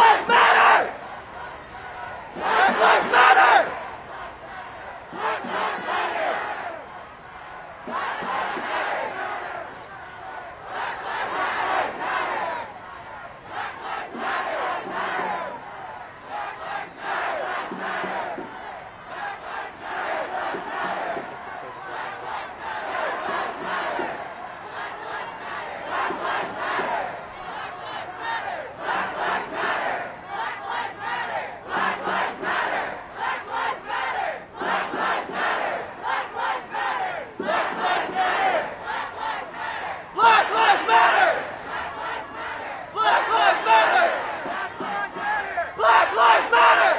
Crowd Protest March passing 0:00.0 - 0:46.9

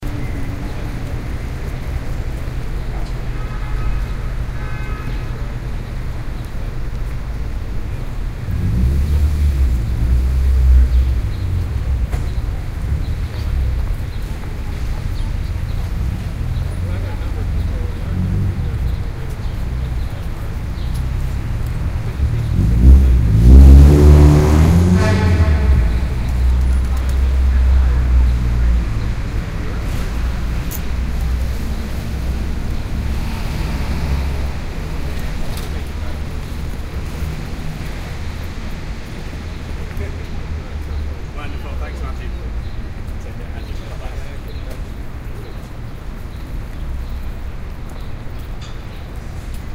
traffic 0:00.0 - 0:49.7

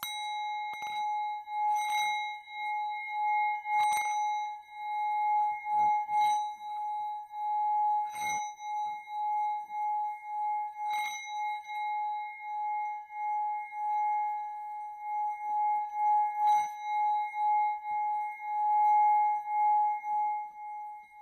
Tibetan Singing Bowls 0:00.0 - 0:21.2

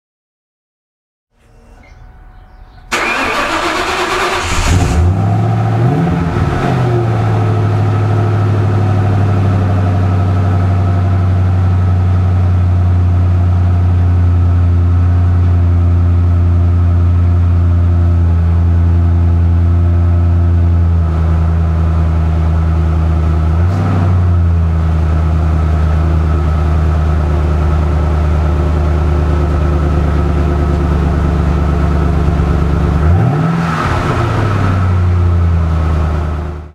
Mustang Cobra SVT Staring 0:02.8 - 0:11.7

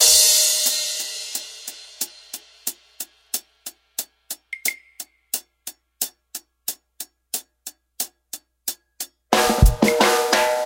drum mix(8) 0:00.0 - 0:10.6

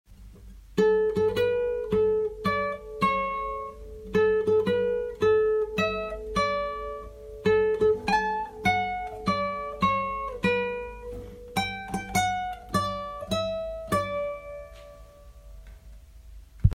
guitar clip 0:00.2 - 0:16.7

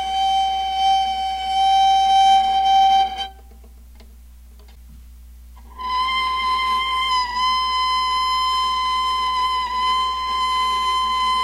playing on a viola softly 0:05.6 - 0:11.4

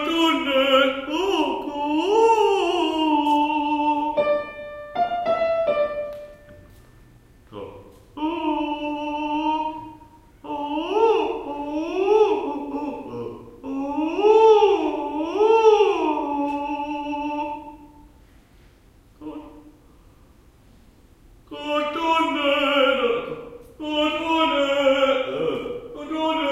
piano 0:00.0 - 0:07.2

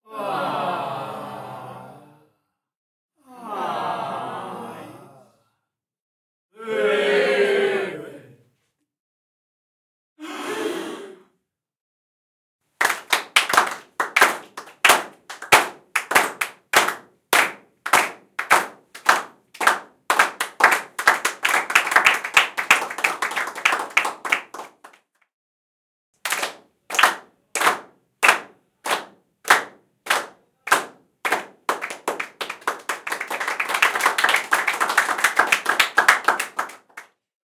Small crowd reactions 0:00.1 - 0:02.4
Small crowd reactions 0:03.2 - 0:05.5

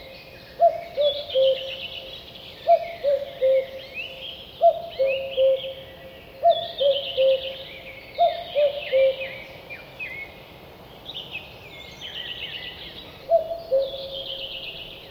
Cuckoo, distant, unusual cuckooing 0:00.6 - 0:01.7
Cuckoo, distant, unusual cuckooing 0:02.7 - 0:03.8
Cuckoo, distant, unusual cuckooing 0:08.2 - 0:09.3
Cuckoo, distant, unusual cuckooing 0:13.3 - 0:14.6

